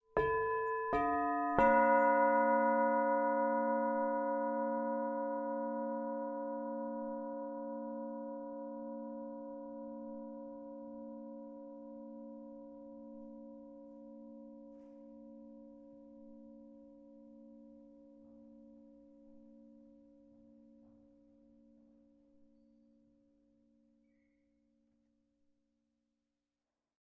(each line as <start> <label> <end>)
0.1 Church bells 15.7